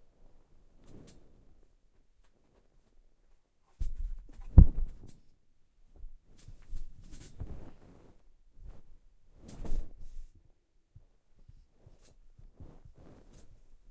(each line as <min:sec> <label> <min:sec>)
0:03.8 windy thump of blankets hitting a bed 0:05.2
0:08.6 windy thump of blankets hitting a bed 0:10.2